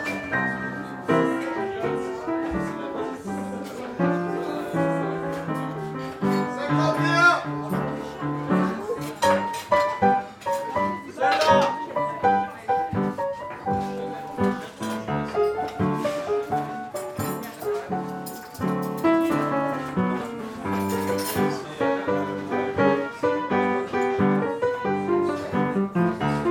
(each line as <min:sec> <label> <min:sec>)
0:00.0 People eating 0:26.5
0:00.0 piano player 0:26.5